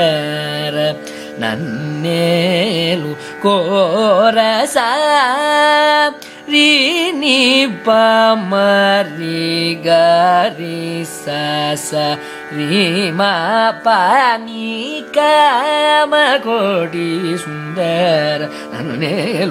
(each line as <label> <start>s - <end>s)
Carnatic varnam 0.0s - 19.5s